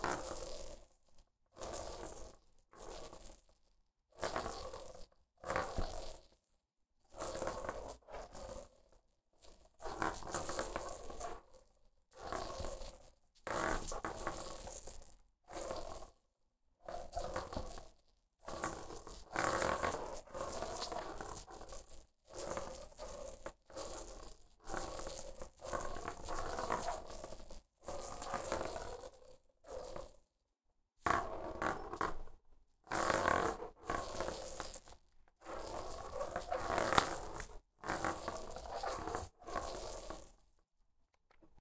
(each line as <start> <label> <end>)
7.2 dice 8.8
9.4 dice 11.4
12.2 dice 16.1
16.8 dice 30.2
31.0 dice 32.3
32.9 dice 40.5